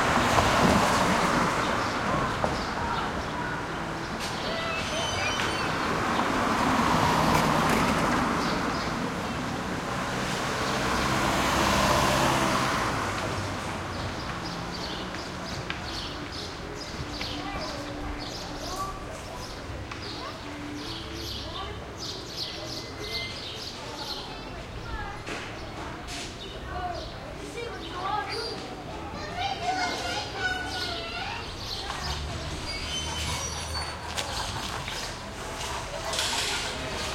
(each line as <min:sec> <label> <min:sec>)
0:00.0 cars pass real bumpy 0:17.3
0:26.7 kids play shout 0:32.2